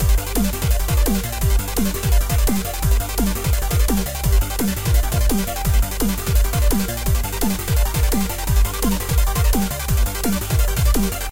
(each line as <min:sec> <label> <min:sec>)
0:00.0 Weird electronic loop 0:11.3